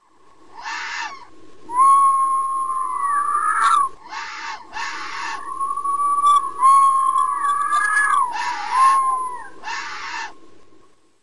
Elictronically altered fox barks 0:06.4 - 0:10.4

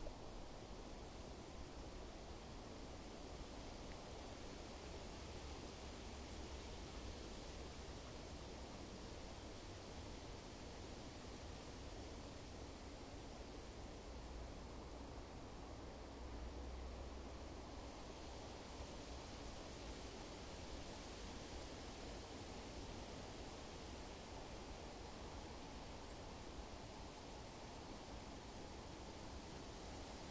Wind 0:00.0 - 0:30.3

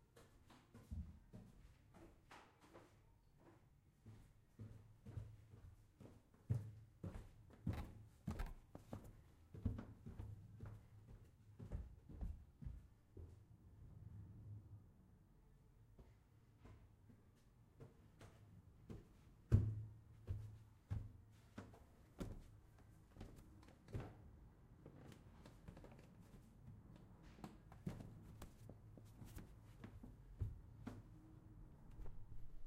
running up wooden stairs 0:05.2 - 0:12.9

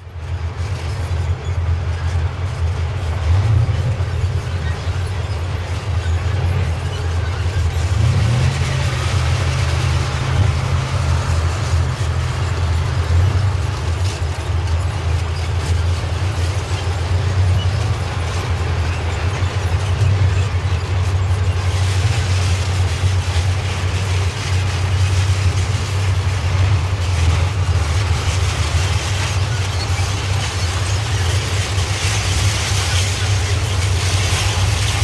Tanks on the street, tracks creaking 0:00.0 - 0:35.0

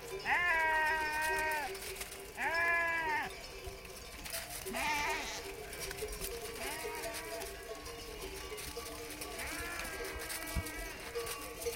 flock of sheep moving from right to left 0:00.0 - 0:11.7

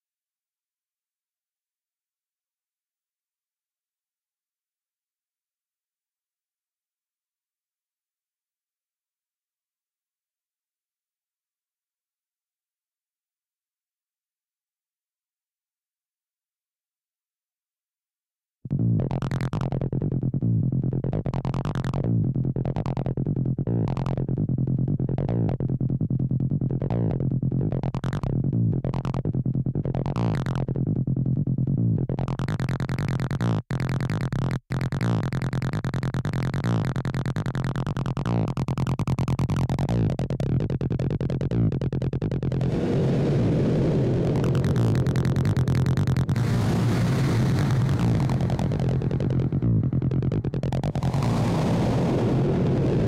Acid sound 0:42.5 - 0:49.7
Acid sound 0:50.7 - 0:53.0

